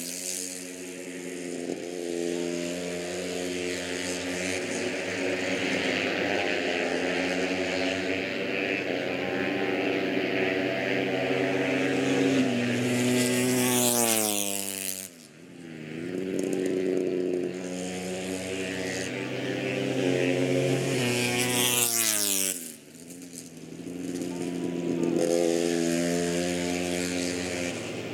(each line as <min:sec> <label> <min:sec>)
0:00.0 motorcycle grand prix 0:28.1